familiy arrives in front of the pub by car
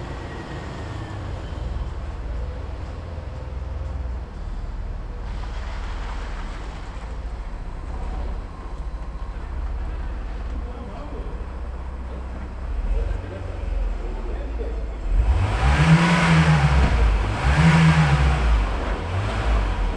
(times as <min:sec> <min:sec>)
0:00.0 0:15.3